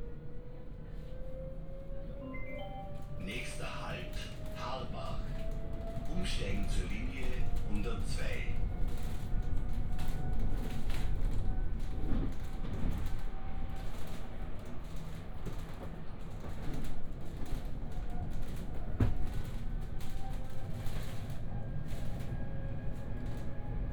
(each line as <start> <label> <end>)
0.0 tram ride 23.9